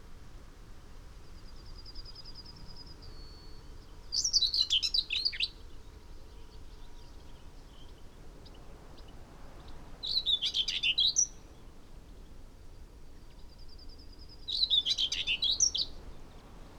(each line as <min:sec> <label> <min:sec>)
0:01.3 willow warbler 0:16.7
0:01.4 song thrush 0:12.4
0:13.1 song thrush 0:16.7